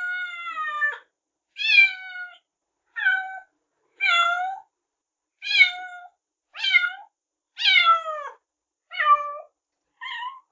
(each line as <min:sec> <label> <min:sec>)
0:00.0 Kitten meows 0:02.4
0:03.0 Kitten meows 0:04.7
0:05.4 Kitten meows 0:10.5